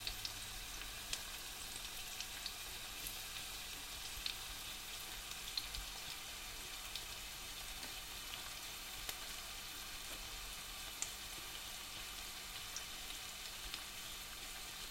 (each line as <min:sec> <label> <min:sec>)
0:00.0 frying pan sizzling 0:14.9